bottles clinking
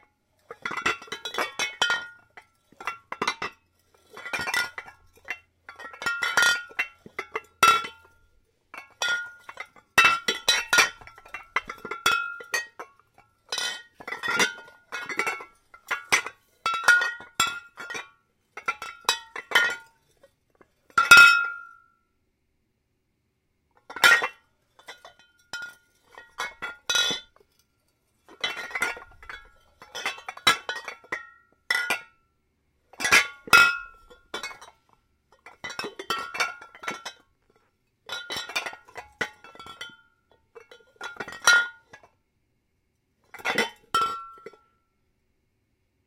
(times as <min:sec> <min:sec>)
0:00.5 0:08.2, 0:08.8 0:12.9, 0:13.5 0:19.9, 0:28.3 0:32.0, 0:33.0 0:34.8, 0:35.4 0:37.2, 0:38.1 0:40.0, 0:43.4 0:44.6